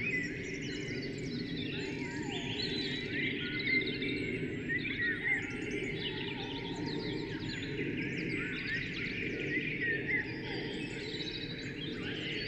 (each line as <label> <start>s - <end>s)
Blackbirds 0.0s - 12.4s
Pheasants 0.0s - 12.4s
Robins 0.0s - 12.4s
aircraft 0.0s - 12.4s